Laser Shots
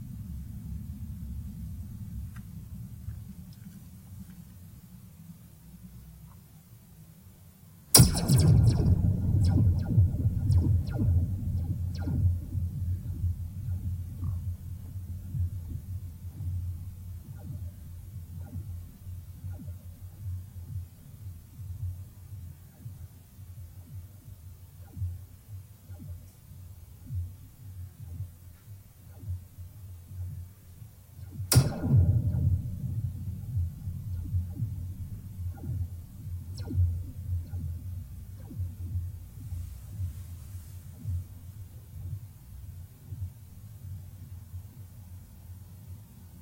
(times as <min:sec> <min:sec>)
0:08.0 0:14.4, 0:31.5 0:37.6